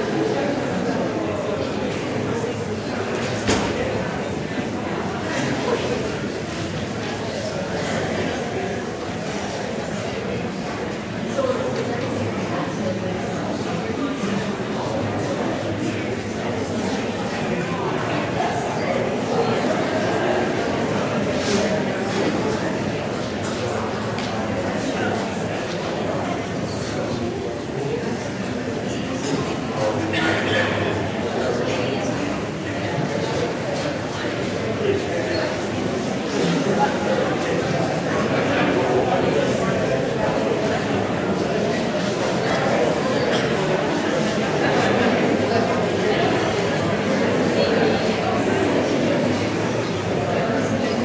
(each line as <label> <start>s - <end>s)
Crowd Noise 0.0s - 51.0s